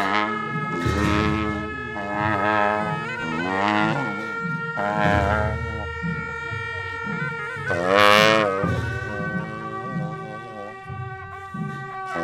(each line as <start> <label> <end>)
0.0 Procession 12.2